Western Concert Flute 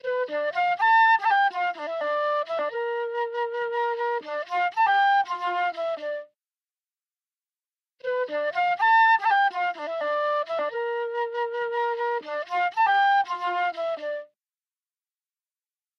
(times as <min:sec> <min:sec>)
0:00.0 0:06.3, 0:08.0 0:14.4